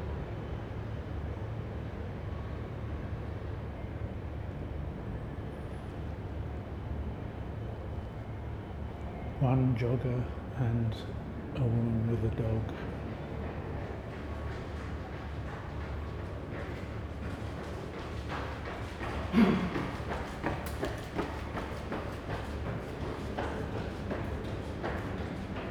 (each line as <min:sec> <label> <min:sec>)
0:12.8 joggers 0:25.7